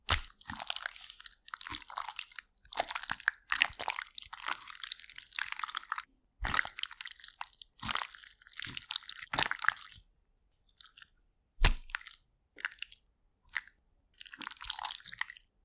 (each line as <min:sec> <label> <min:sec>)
0:11.6 body hit sounds 0:11.9